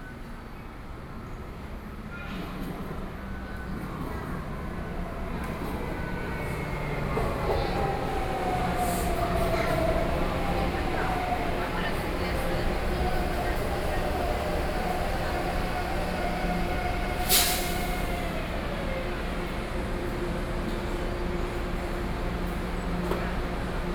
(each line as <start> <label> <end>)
0.0 MRT Train 23.9